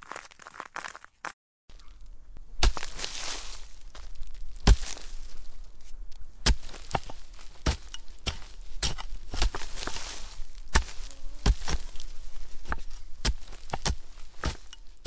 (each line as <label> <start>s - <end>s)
scraping gravel and earth out of the way 0.0s - 1.3s
scraping gravel and earth out of the way 2.6s - 15.0s
cracking through a stone wall 12.7s - 15.0s